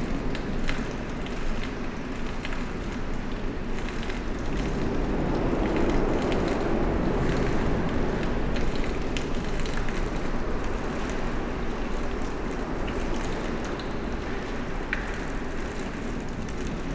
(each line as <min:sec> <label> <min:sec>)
0:00.0 water collected in strange curved tubes 0:16.9